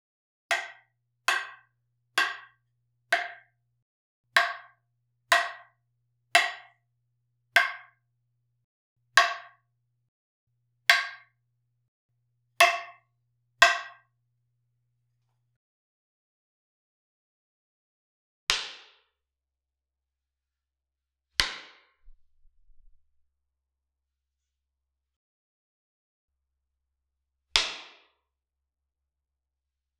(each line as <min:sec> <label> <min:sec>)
0:00.5 roller stick being hit with a long ruler and a wooden cane 0:03.6
0:04.4 roller stick being hit with a long ruler and a wooden cane 0:06.8
0:07.5 roller stick being hit with a long ruler and a wooden cane 0:08.0
0:09.1 roller stick being hit with a long ruler and a wooden cane 0:09.7
0:10.9 roller stick being hit with a long ruler and a wooden cane 0:11.4
0:12.6 roller stick being hit with a long ruler and a wooden cane 0:14.1
0:27.6 roller stick being hit with a long ruler and a wooden cane 0:28.1